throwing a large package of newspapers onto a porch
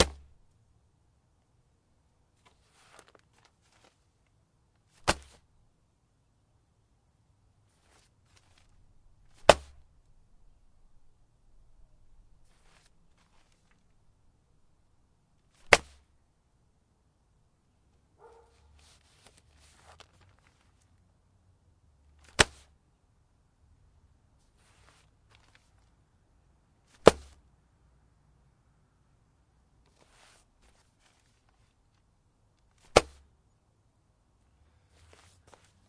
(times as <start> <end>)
0.0 0.3, 2.4 4.2, 4.8 5.4, 7.8 9.9, 12.4 14.0, 15.4 16.1, 22.2 22.7, 24.5 25.9, 26.8 27.4, 29.9 32.0, 32.7 33.2